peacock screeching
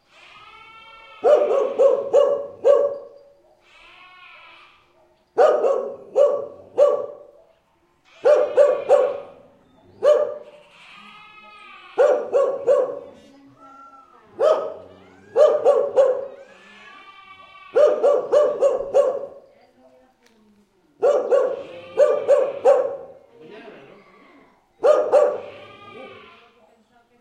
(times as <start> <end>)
10.4 12.6, 15.0 18.2, 25.1 26.5